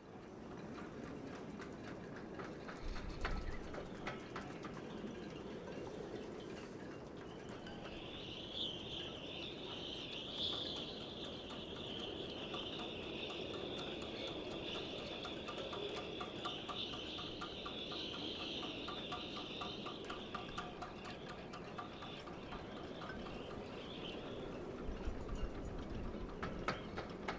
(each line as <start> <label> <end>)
0.0 wind blows through the riggings of the ships 27.3